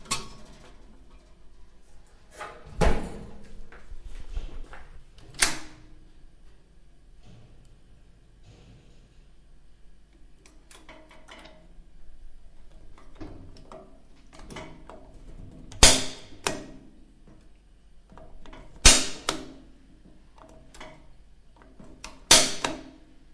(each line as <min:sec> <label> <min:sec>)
0:18.8 Gas Heater 0:19.5
0:22.0 Gas Heater 0:22.8